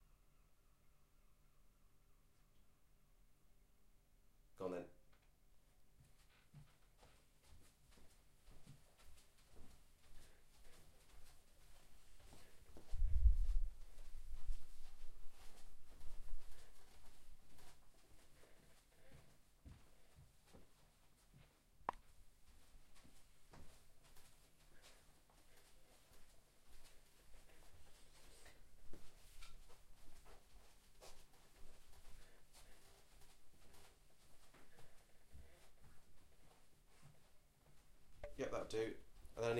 Footsteps carpet shoes towards and away 0:05.9 - 0:38.2
wind noise 0:12.9 - 0:16.5

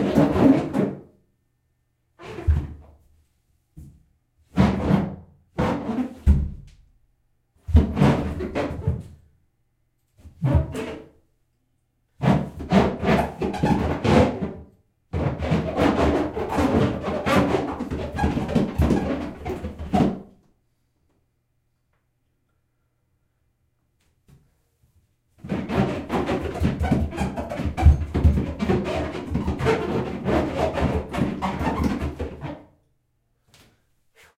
Feet rubbing the bottom of the bathtub making squeaks 0:02.2 - 0:02.9
Feet rubbing the bottom of the bathtub making squeaks 0:12.2 - 0:14.6
Feet rubbing the bottom of the bathtub making squeaks 0:15.2 - 0:20.2
Feet rubbing the bottom of the bathtub making squeaks 0:25.4 - 0:32.6

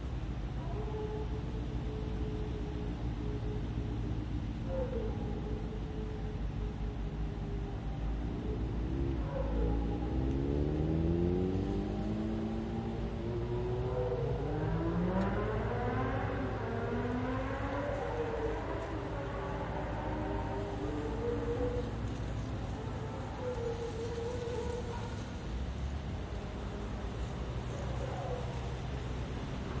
distant cars 0:00.0 - 0:29.8
wind through the trees 0:00.0 - 0:29.8
howling dog 0:00.6 - 0:03.7
sirens 0:00.7 - 0:29.7
howling dog 0:04.6 - 0:10.9
distant revving car 0:07.4 - 0:29.8
howling dog 0:12.7 - 0:14.6
howling dog 0:15.9 - 0:25.4
howling dog 0:27.7 - 0:28.8

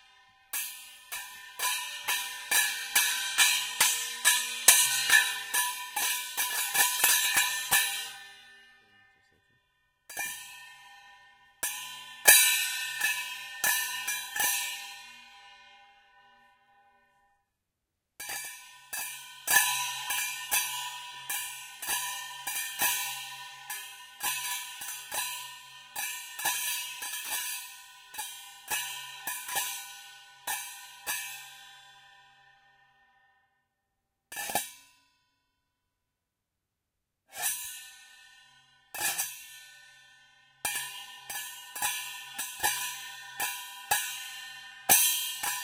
small hand cymbals 0:00.0 - 0:09.4
small hand cymbals 0:10.1 - 0:16.3
small hand cymbals 0:18.2 - 0:32.8
small hand cymbals 0:37.3 - 0:45.6

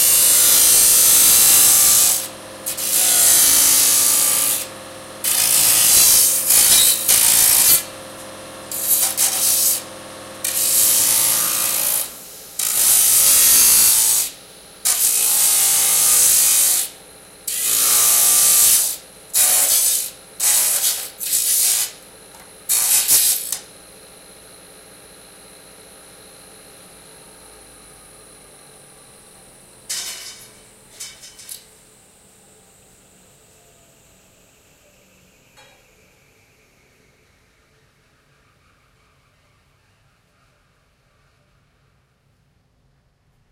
Disk Saw Cuts Alluminium 0:00.0 - 0:22.0
Disk Saw Cuts Alluminium 0:22.6 - 0:23.6

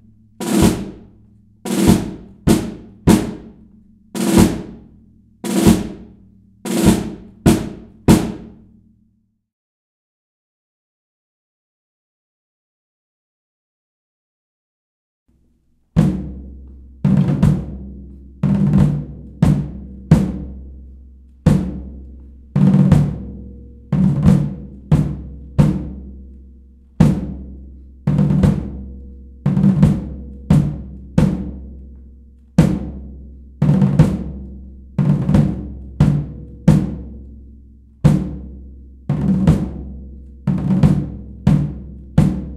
single tom 0:00.4 - 0:01.1
single tom 0:01.7 - 0:08.7
snare 0:06.7 - 0:08.5
single tom 0:28.1 - 0:31.8
single tom 0:32.6 - 0:37.2
single tom 0:38.0 - 0:42.5

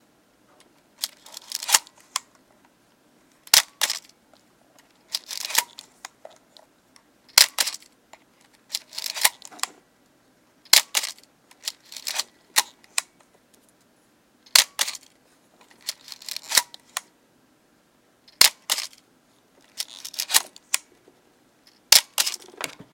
35mm wind and shutter 0:01.0 - 0:02.3
35mm wind and shutter 0:03.4 - 0:04.2
35mm wind and shutter 0:04.9 - 0:06.2
35mm wind and shutter 0:07.3 - 0:09.8
35mm wind and shutter 0:10.7 - 0:13.2
35mm wind and shutter 0:14.5 - 0:17.1
35mm wind and shutter 0:18.4 - 0:19.0
35mm wind and shutter 0:19.6 - 0:20.9
35mm wind and shutter 0:21.7 - 0:22.9

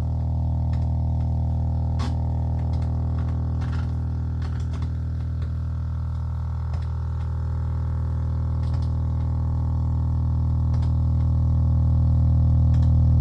Low hum noisy signal 0:00.0 - 0:13.2

